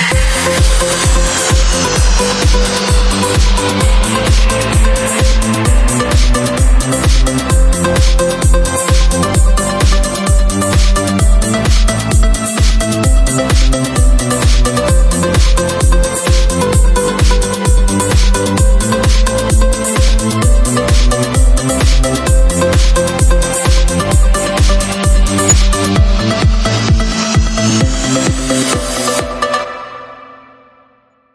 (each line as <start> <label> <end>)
25.2 Background melody 26.6